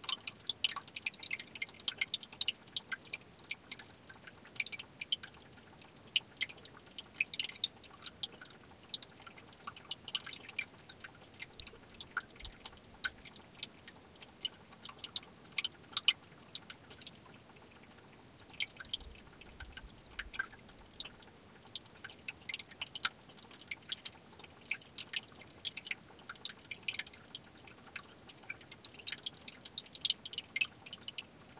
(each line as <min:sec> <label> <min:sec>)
0:00.0 Water trickling beneath a field of boulders 0:31.5